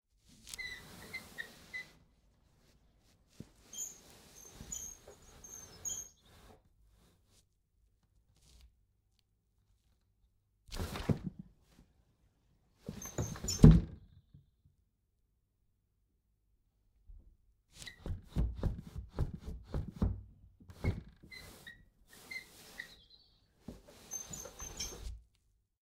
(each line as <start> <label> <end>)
0.5 squeaking of the wood 2.0
3.6 squeaking of the wood 6.6
10.7 Sash Window Open and Close 11.4
12.8 Sash Window Open and Close 14.0
12.9 squeaking of the wood 14.1
19.7 Sash Window Open and Close 25.2
20.7 squeaking of the wood 25.2